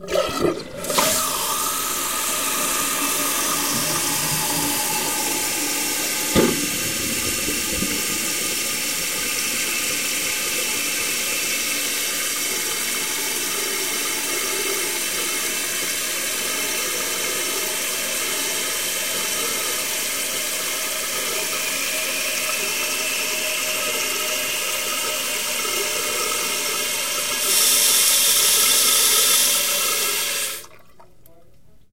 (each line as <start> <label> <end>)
0.0 toilet 31.5